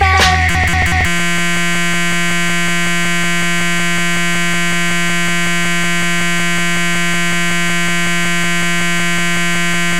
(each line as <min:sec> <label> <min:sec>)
0:00.0 Digital clock error 0:02.6